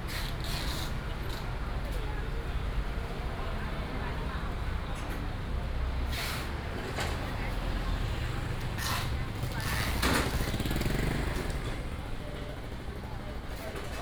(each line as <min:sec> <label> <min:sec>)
0:00.0 Traffic sound 0:13.8
0:07.5 vendors peddling 0:14.0